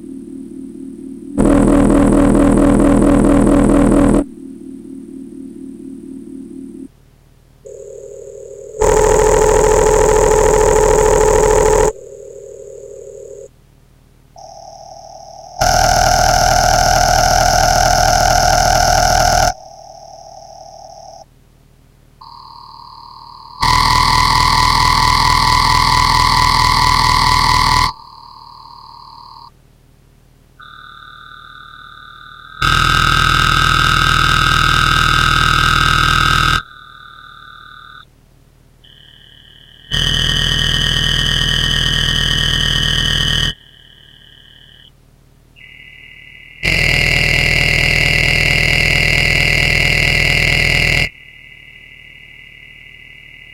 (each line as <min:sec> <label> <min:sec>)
0:00.0 Synthesizer 0:07.0
0:14.4 Synthesizer 0:21.3